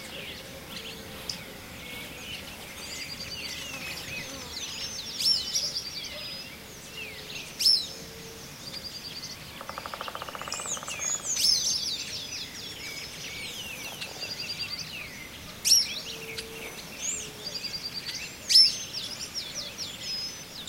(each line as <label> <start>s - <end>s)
Song and calls of birds 0.0s - 20.6s